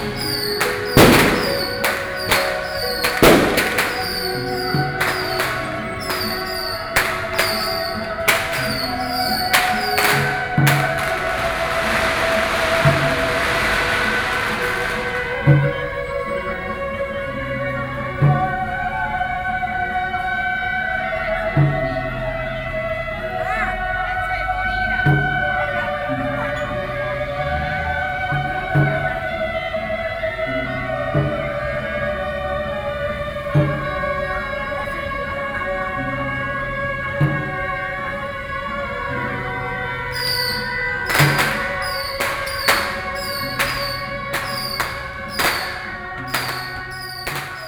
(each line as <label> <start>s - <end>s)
Firework 0.0s - 16.9s
Firework 40.1s - 47.6s